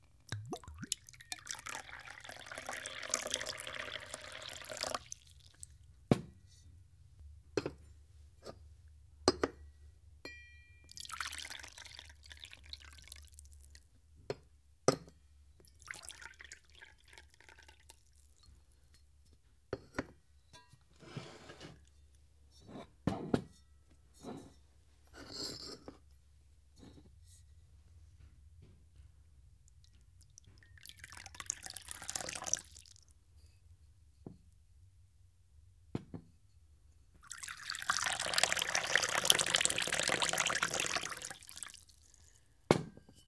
Water (or wine) being poured into wine glasses 0.3 - 5.8
Water (or wine) being poured into wine glasses 10.9 - 13.8
Water (or wine) being poured into wine glasses 15.6 - 18.4
Water (or wine) being poured into wine glasses 30.3 - 33.1
Water (or wine) being poured into wine glasses 37.2 - 42.4

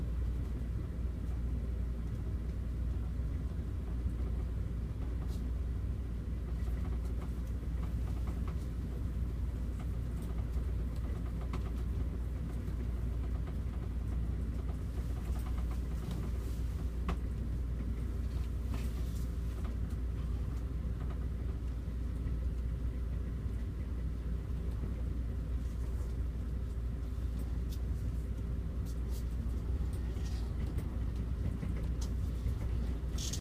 train 0.0 - 33.4

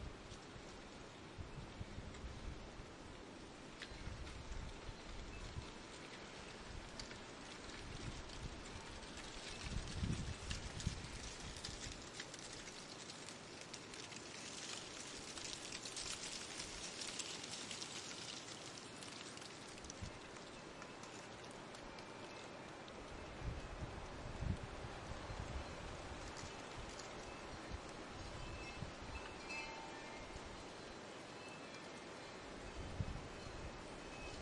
leaves rushing across asphalt 0.0 - 34.4
wind 0.0 - 34.4
wind-chimes 25.2 - 34.4

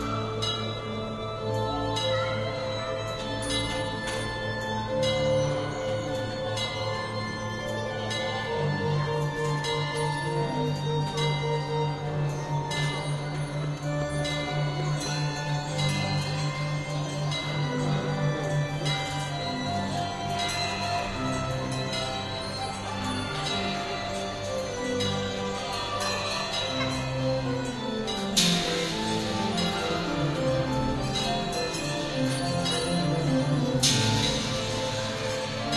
Millennium Clock 0.0 - 35.7

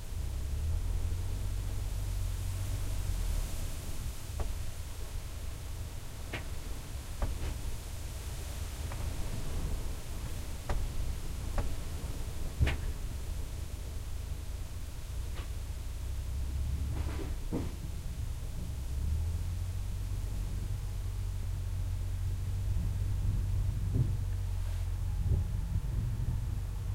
swoosh of the grass and wind 1.4 - 26.9

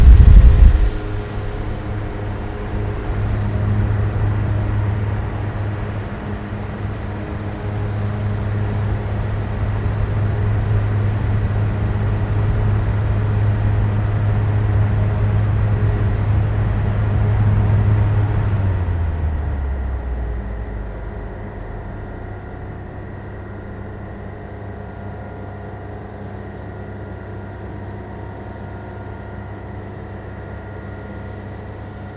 Fan Ventilation 0.0 - 32.1

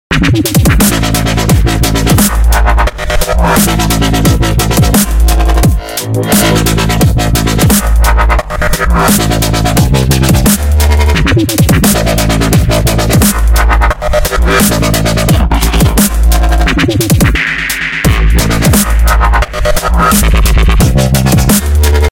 bass 0.1 - 22.1
hat 0.1 - 22.1
snare 0.2 - 2.6
snare 3.2 - 5.3
snare 6.2 - 8.2
snare 8.8 - 13.7
snare 14.3 - 15.0
snare 15.8 - 22.1

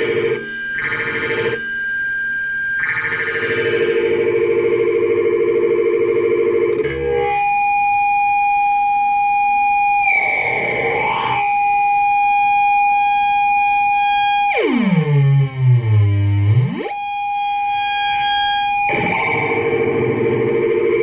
feedback 0.0 - 21.0

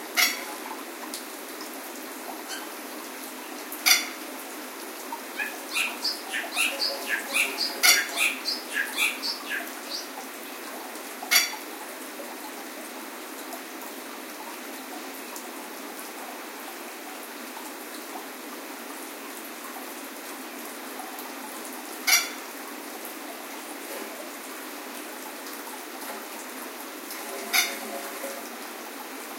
running water 0.0 - 29.3
Calls from a Masked Lapwing 5.4 - 10.0
song from a Bali Starling 5.7 - 9.7

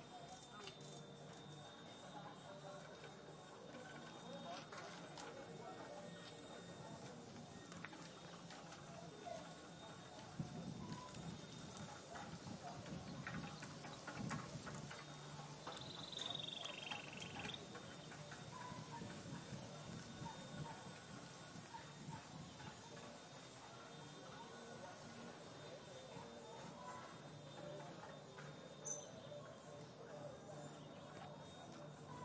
bicycles 0.0 - 32.2
people go 0.0 - 32.2
wind 0.0 - 32.2
Birds sing 10.8 - 20.8
Birds sing 26.4 - 32.2

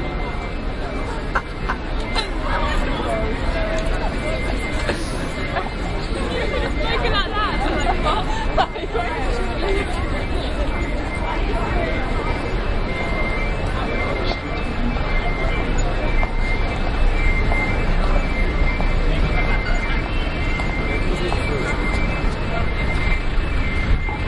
crowd 0.0 - 24.2

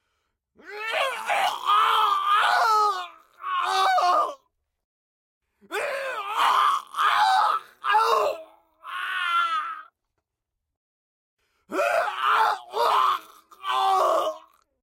mortally wounded scream 0.6 - 4.4
mortally wounded scream 5.7 - 10.0
mortally wounded scream 11.7 - 14.8

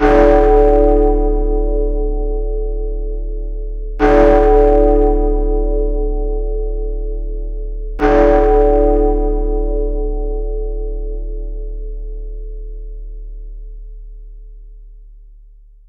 Large bell with 3 strikes 0.0 - 14.9

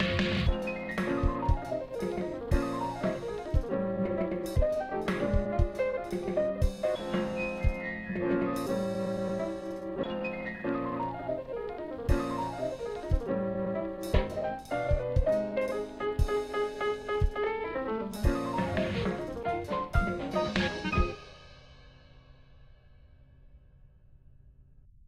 bassdrum 0.0 - 3.8
snare drums 0.0 - 9.8
piano 0.0 - 22.4
bassdrum 4.5 - 7.9
snare drums 12.1 - 13.4
snare drums 14.0 - 17.6
Cymbals 14.0 - 23.2
bassdrum 14.1 - 16.6
bassdrum 18.2 - 21.2
snare drums 18.2 - 21.5

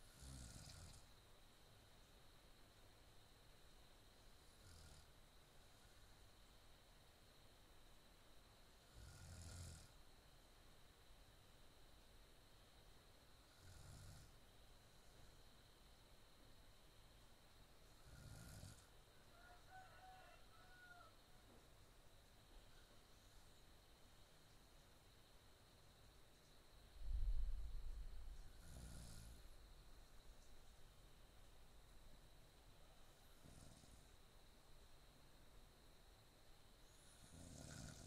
snoring 0.0 - 1.1
snoring 4.5 - 6.0
snoring 8.9 - 10.0
snoring 13.5 - 14.4
snoring 18.0 - 18.9
snoring 28.5 - 29.5
snoring 33.3 - 34.2
snoring 36.9 - 38.0

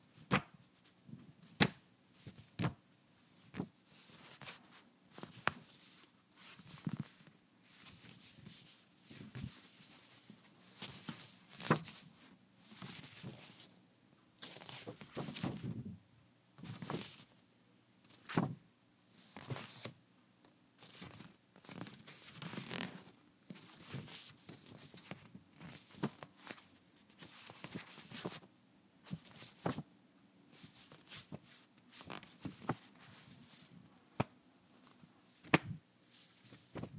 handling sounds of a folded manila envelope 20.8 - 28.4
handling sounds of a folded manila envelope 29.1 - 29.8

